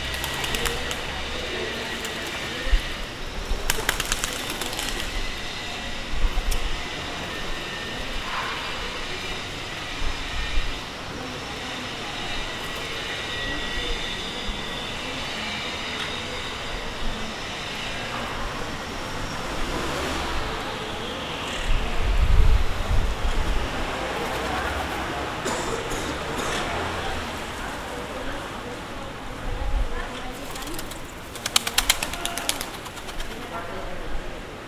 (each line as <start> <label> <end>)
0.0 pigeons flapping their wings 2.6
0.0 cars and motorbikes passing 3.0
0.0 people talking 34.6
3.4 pigeons flapping their wings 5.4
18.2 cars and motorbikes passing 29.2
30.3 pigeons flapping their wings 33.7